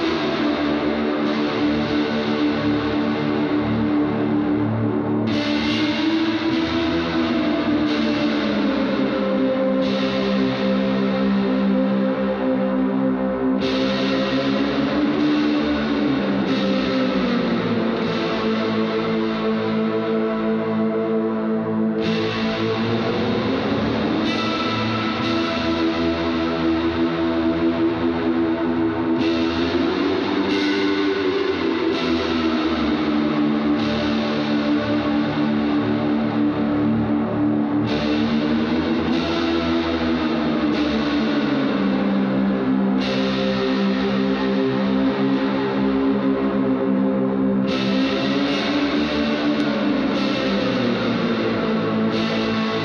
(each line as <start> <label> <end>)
0.0 Guitar 52.8